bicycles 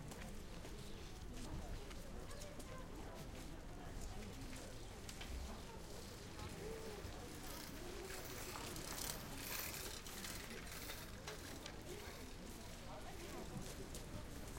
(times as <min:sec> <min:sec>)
0:03.9 0:14.5